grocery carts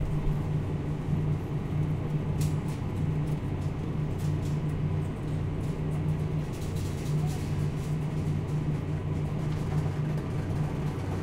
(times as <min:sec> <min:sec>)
0:06.5 0:11.2